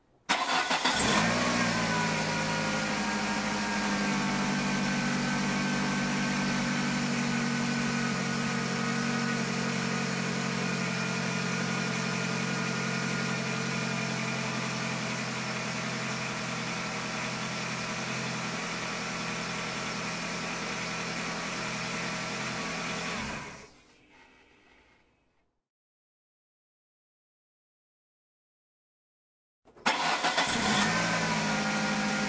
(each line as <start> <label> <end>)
29.8 Idle 32.2